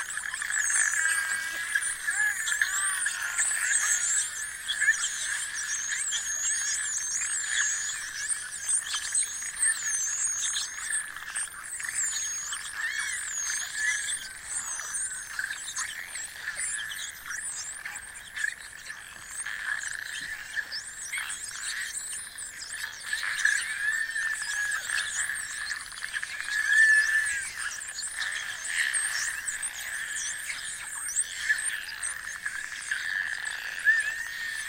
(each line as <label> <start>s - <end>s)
Atlantic Spotted Dolphins 0.0s - 34.6s